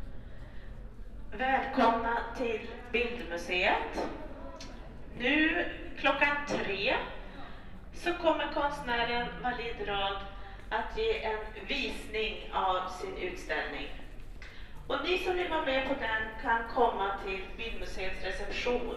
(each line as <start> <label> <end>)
1.2 PA announcement 14.2
14.8 PA announcement 18.9